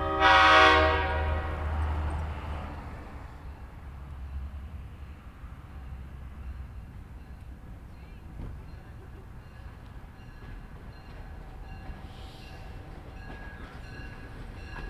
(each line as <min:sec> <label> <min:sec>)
0:00.0 passenger train stops 0:14.8